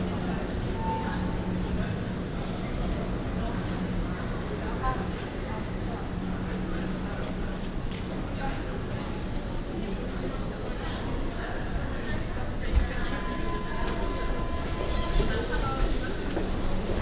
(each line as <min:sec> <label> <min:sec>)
0:00.0 U-Bahn trip 0:17.0